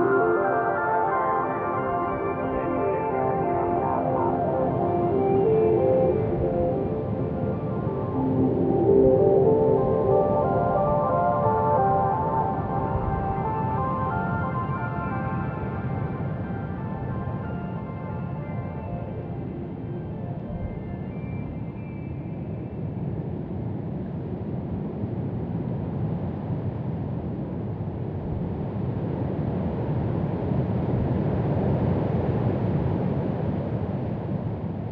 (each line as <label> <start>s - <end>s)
music 0.0s - 22.9s